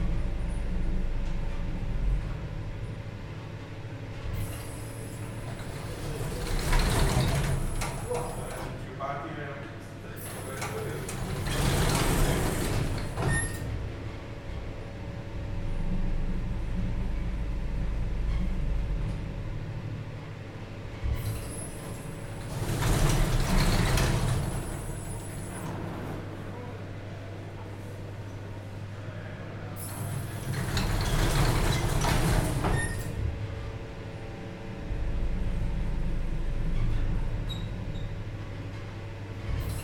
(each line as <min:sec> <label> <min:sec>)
0:00.0 Elevator 0:39.8